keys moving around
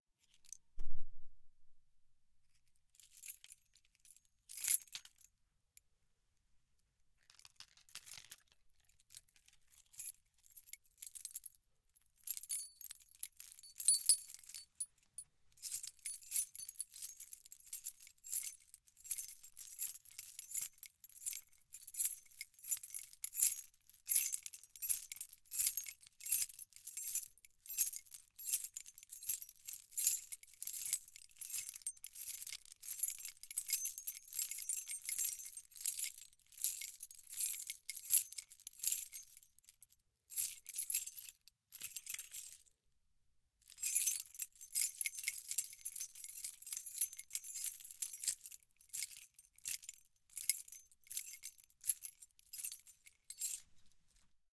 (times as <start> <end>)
13.6 14.9, 47.0 47.6